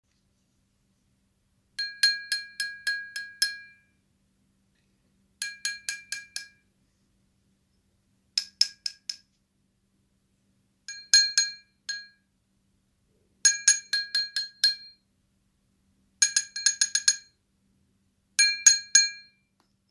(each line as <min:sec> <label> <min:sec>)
0:01.8 tapped on an empty glass with a pen 0:03.9
0:05.4 tapped on an empty glass with a pen 0:06.7
0:08.4 tapped on an empty glass with a pen 0:09.3
0:10.9 tapped on an empty glass with a pen 0:12.3
0:13.5 tapped on an empty glass with a pen 0:15.0
0:16.2 tapped on an empty glass with a pen 0:17.4
0:18.4 tapped on an empty glass with a pen 0:19.9